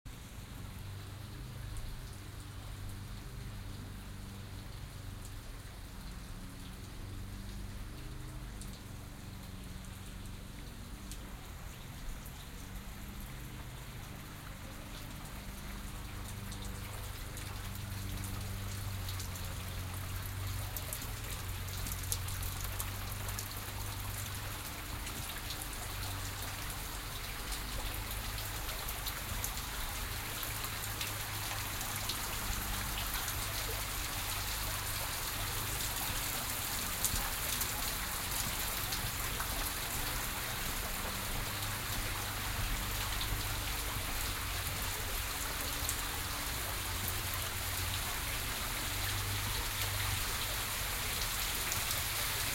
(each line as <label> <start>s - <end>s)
water is rinsing down bushwoods 0.1s - 52.5s